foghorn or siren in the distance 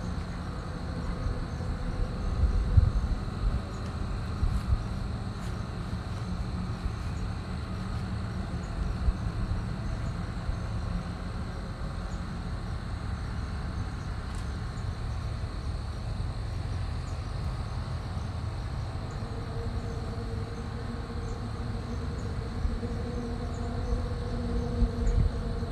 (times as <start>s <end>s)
18.7s 25.7s